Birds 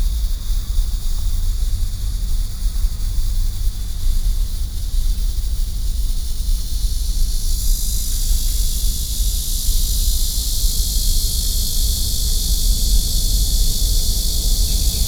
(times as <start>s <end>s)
13.6s 15.0s